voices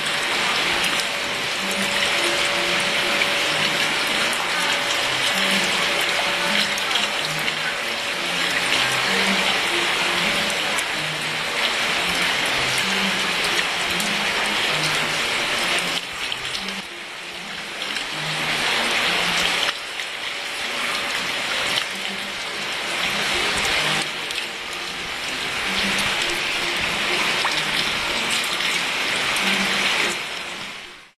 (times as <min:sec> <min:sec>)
0:00.4 0:15.8